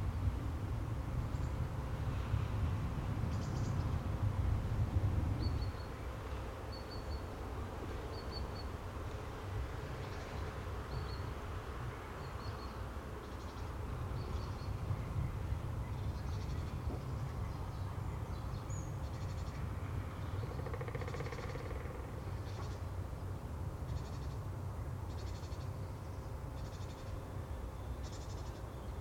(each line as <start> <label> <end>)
20.5 woodpeckers 22.1